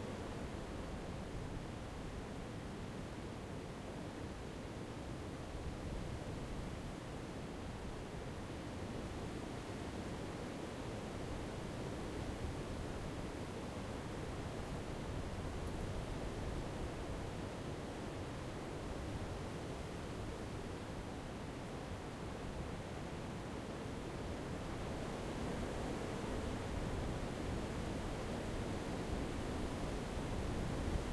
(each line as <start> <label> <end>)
0.0 strong wind in the forest front 31.1